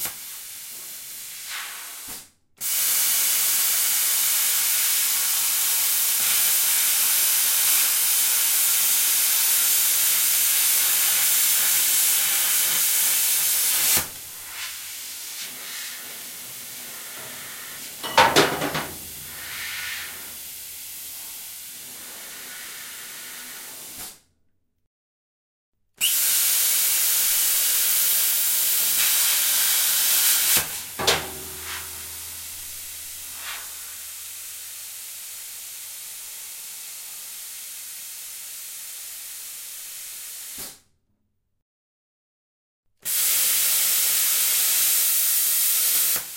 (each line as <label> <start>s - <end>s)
plasma cutter to cut a metal plate in pieces 4.9s - 8.0s